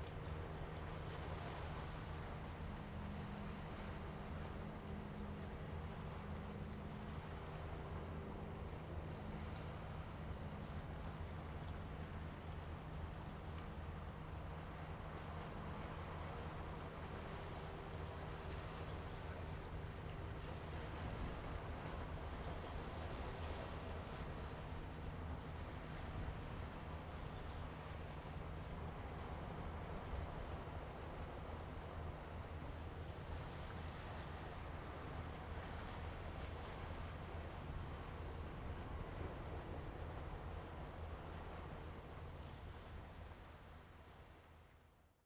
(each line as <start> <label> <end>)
0.0 Fishing boats in the distance 45.2
0.0 waves 45.2